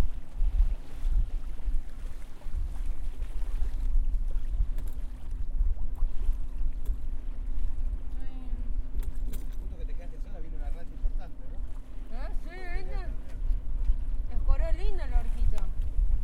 0.0s Raising the sail 8.2s
8.9s Raising the sail 10.8s

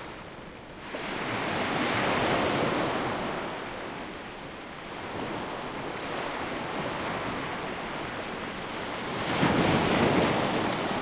0.0s waves crashing on the shore 11.0s

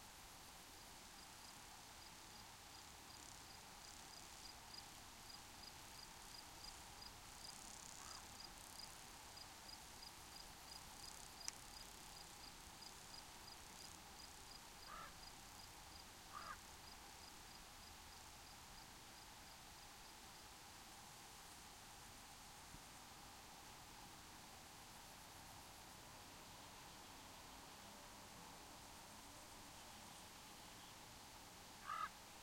0.0s insects 32.4s
0.0s wind 32.4s
7.5s ravens 8.8s
14.8s ravens 15.3s
16.2s ravens 16.7s
31.8s ravens 32.2s

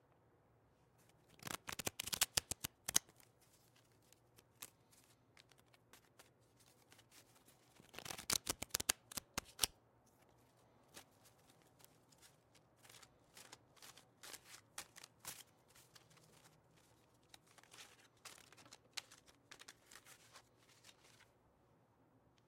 1.0s Shuffling cards 21.3s

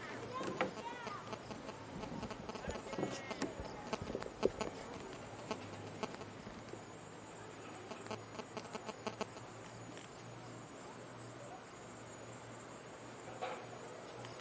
0.0s crickets 14.4s

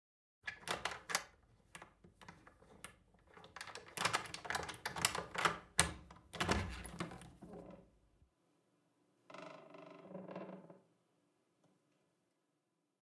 0.5s Wooden door unlocking with a key 7.4s

